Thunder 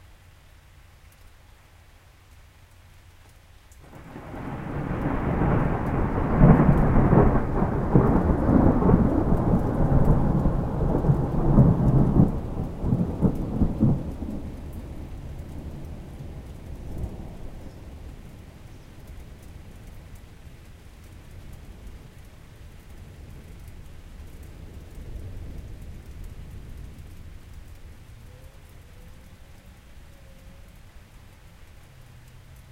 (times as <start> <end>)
3.8 20.2